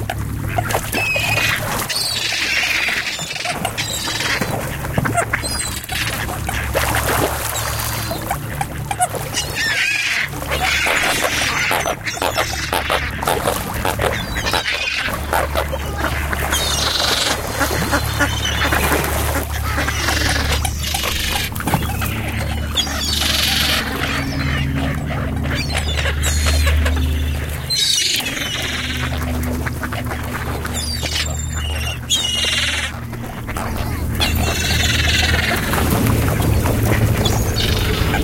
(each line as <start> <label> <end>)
0.0 Carp Fish Feeding Frenzy 38.2
0.0 ducks 38.2
0.0 seagulls 38.2
0.0 splash 38.2
0.0 tourist helicopters occasionally pass by 38.2